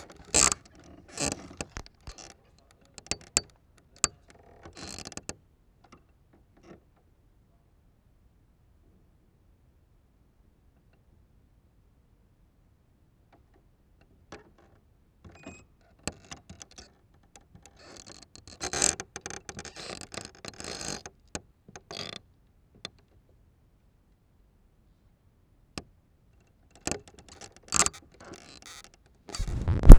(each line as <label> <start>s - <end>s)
Floor Crackles 29.4s - 29.9s